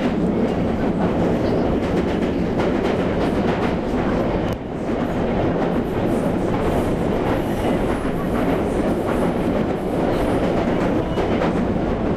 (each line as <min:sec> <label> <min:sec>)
0:00.0 train 0:12.1